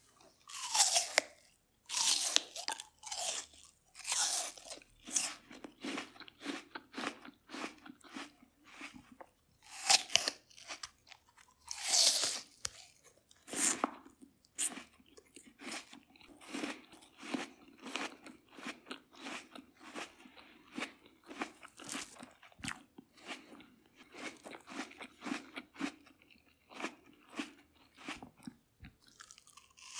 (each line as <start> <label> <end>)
0.0 Eating an apple 29.9